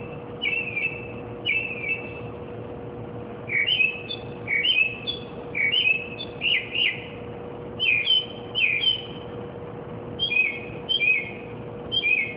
bird singing and chirping various car-alarm-like-songs 0.0 - 2.3
occasional street noises 0.0 - 12.3
bird singing and chirping various car-alarm-like-songs 3.5 - 7.2
bird singing and chirping various car-alarm-like-songs 7.8 - 9.3
bird singing and chirping various car-alarm-like-songs 10.2 - 12.3

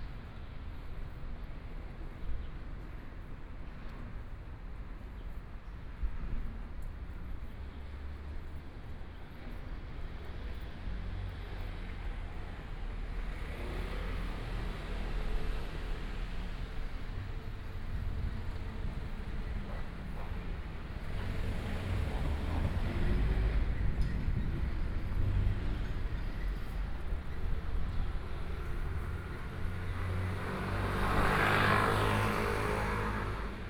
walking in the Street 0.0 - 33.6
Traffic Sound 10.8 - 33.6

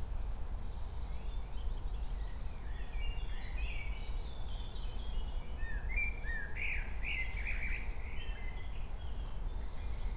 wind 0.0 - 10.1

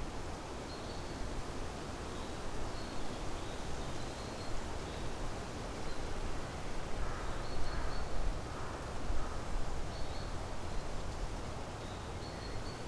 wind 6.7 - 12.8

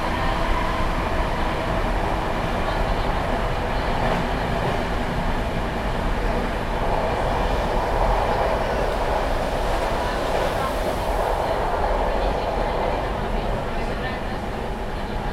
Train drumming and clacking 0.0 - 5.2
people chatting 2.3 - 4.8
people chatting 6.2 - 15.3

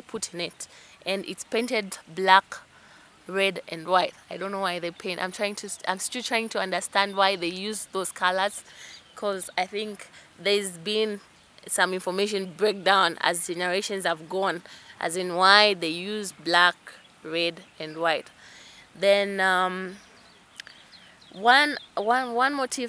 she describes 0.0 - 2.6
she describes 3.3 - 18.3
she describes 19.0 - 20.0
she describes 21.4 - 22.8

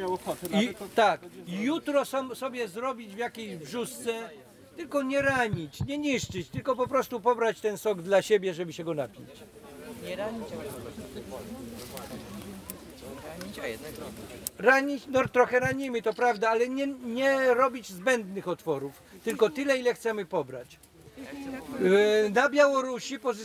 opowieść 4.8 - 7.4
opowieść 11.6 - 16.7

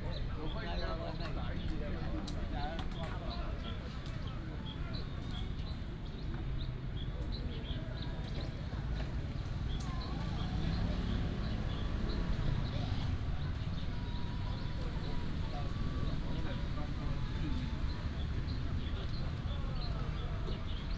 Walk through the Park 0.0 - 20.9
Traffic sound 8.2 - 20.9

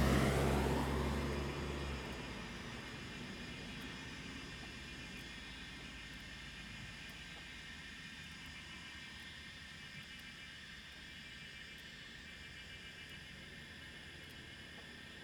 Traffic Sound 0.0 - 4.0

